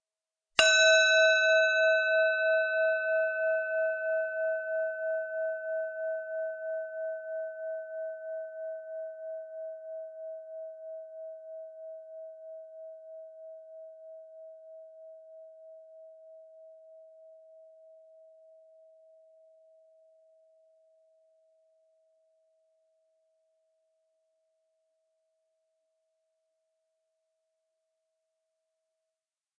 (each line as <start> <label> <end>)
0.6 bronze bell (rescued clock bell) struck with a wooden striker 5.8